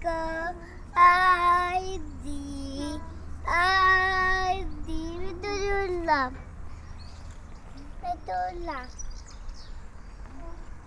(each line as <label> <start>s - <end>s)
sing on a swing 0.0s - 10.8s